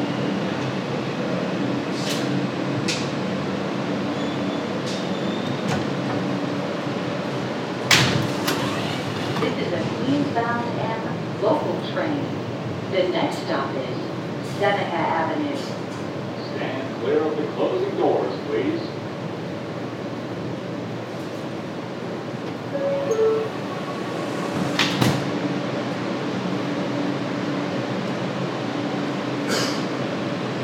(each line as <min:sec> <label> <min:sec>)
0:00.0 wind inside the M train 0:30.6
0:09.4 Train announcements 0:15.6
0:17.1 M Train 0:30.6
0:22.1 Train announcements 0:27.2